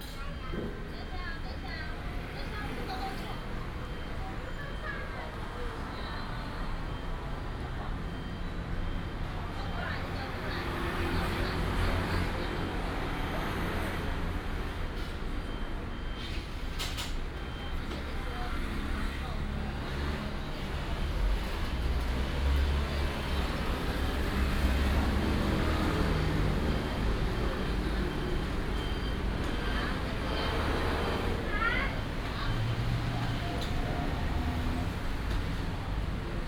Traffic sound 0:00.0 - 0:36.4

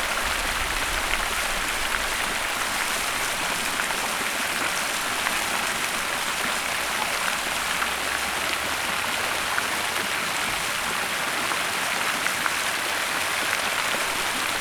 fountain 0:00.0 - 0:14.6

